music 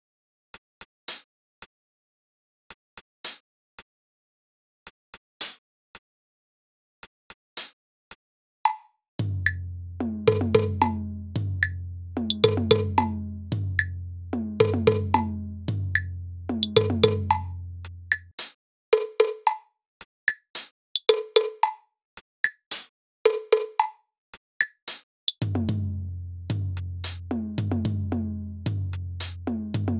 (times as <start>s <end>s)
8.7s 21.9s, 24.6s 29.9s